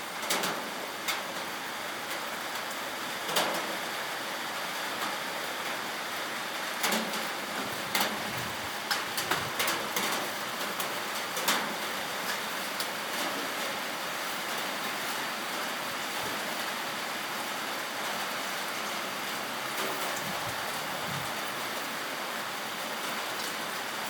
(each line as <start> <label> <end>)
0.0 rainstorm 24.0